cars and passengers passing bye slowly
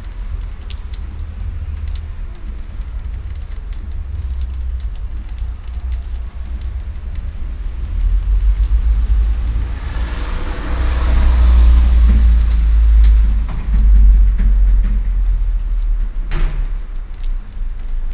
0:08.9 0:15.7

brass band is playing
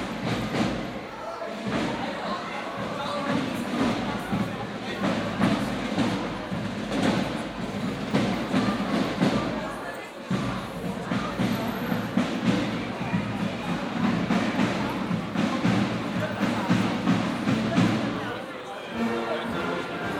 0:11.1 0:20.1

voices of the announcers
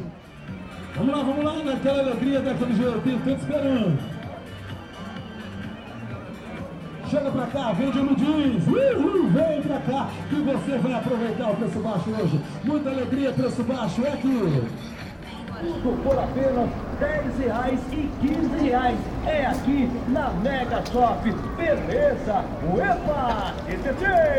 0:15.1 0:24.3

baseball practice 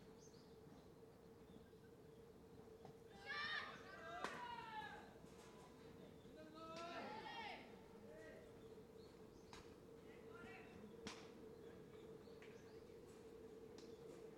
0:04.1 0:04.8, 0:10.8 0:11.9

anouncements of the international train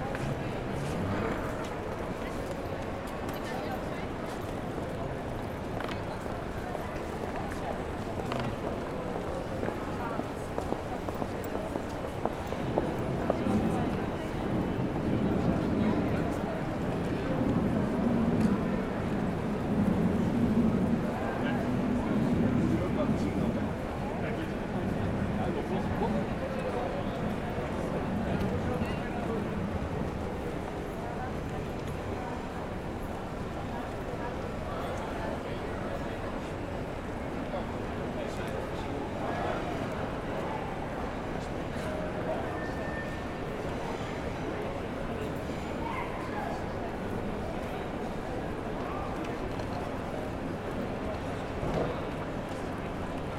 0:42.0 0:43.8

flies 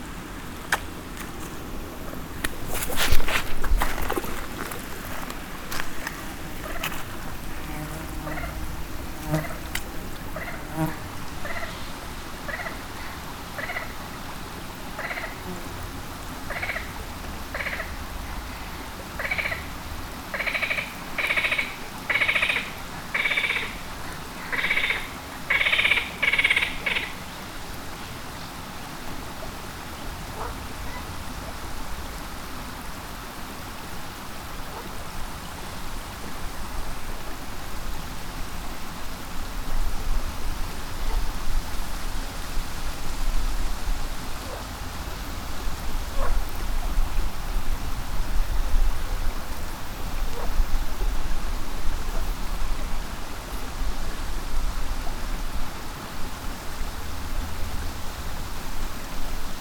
0:02.4 0:11.9

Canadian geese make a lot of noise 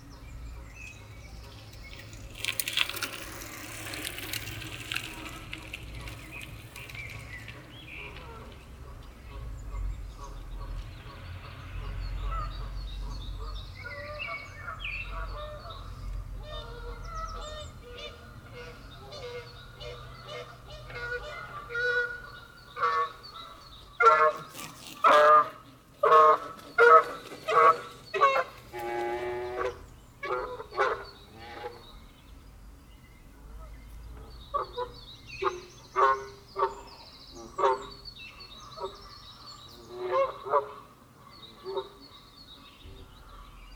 0:06.8 0:31.9, 0:34.5 0:42.2

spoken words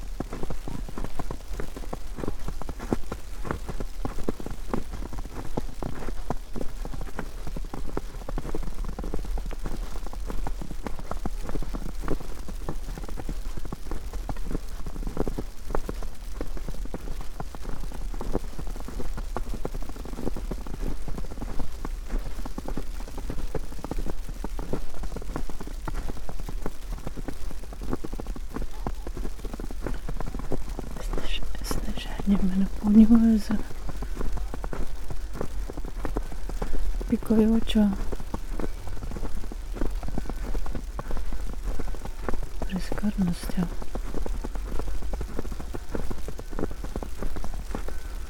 0:31.0 0:33.7, 0:37.1 0:38.0, 0:42.7 0:43.7

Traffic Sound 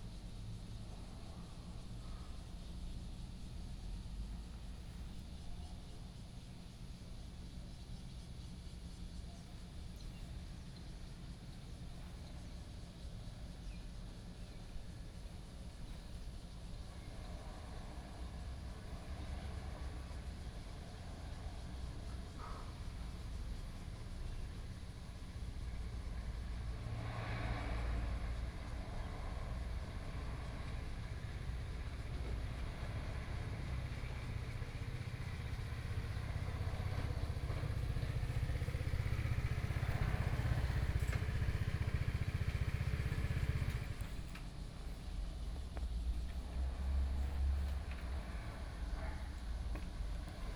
0:24.1 0:50.5

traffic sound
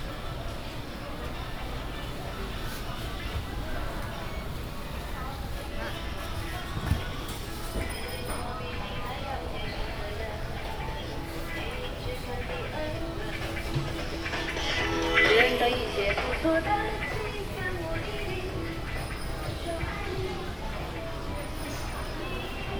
0:08.0 0:22.7

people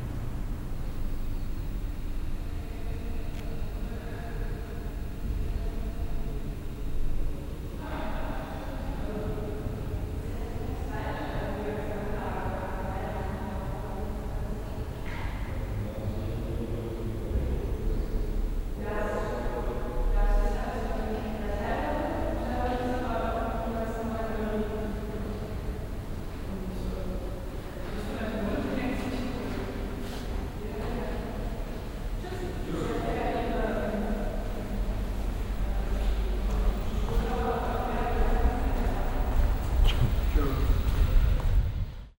0:18.8 0:41.9

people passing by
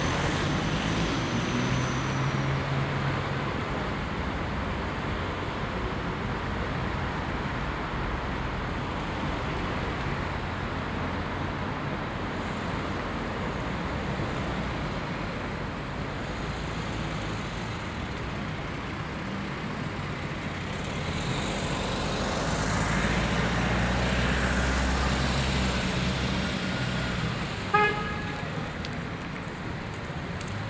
0:11.8 0:30.6

